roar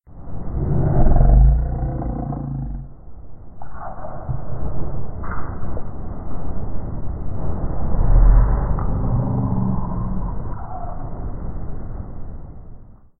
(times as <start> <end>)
0.4 3.3, 7.9 11.1